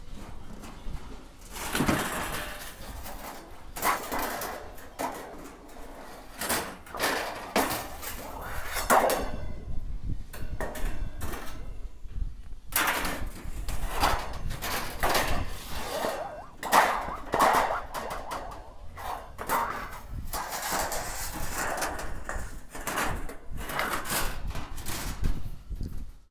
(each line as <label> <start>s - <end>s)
Scrapes 1.7s - 9.2s
Scrapes 13.3s - 24.3s
rattle 14.7s - 21.8s
Bangs 15.0s - 21.4s